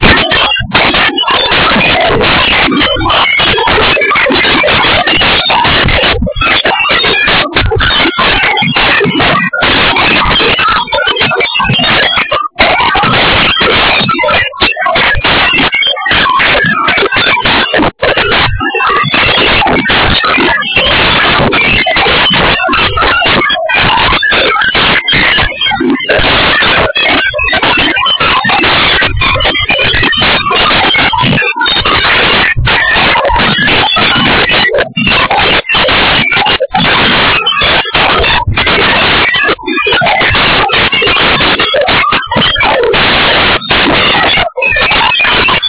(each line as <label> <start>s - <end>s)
tuning an alien radio 0.0s - 45.6s